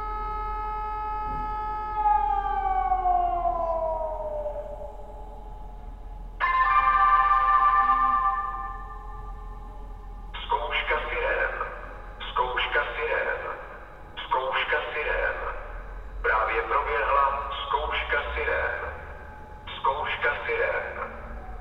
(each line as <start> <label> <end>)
0.0 urban sirens 21.6
2.3 reporting 21.6